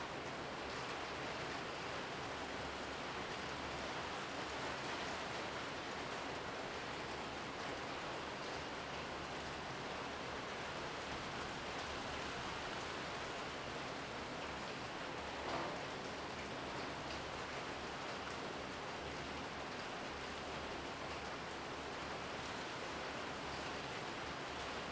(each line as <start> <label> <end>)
0.0 Rain 24.9